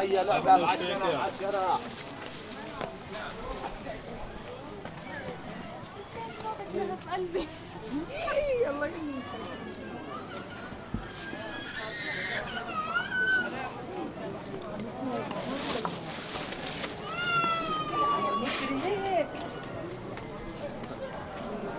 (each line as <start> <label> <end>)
0.0 crowed is passing by 21.7
8.9 crying child 13.6
17.0 crying child 18.8